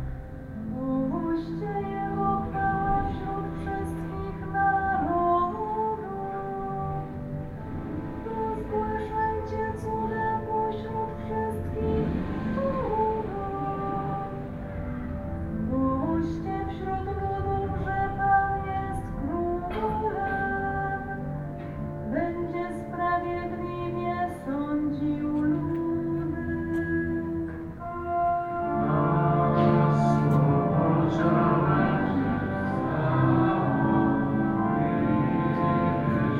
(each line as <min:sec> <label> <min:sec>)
0:00.0 sermon 0:36.3
0:00.8 prayers 0:14.6
0:15.7 prayers 0:36.3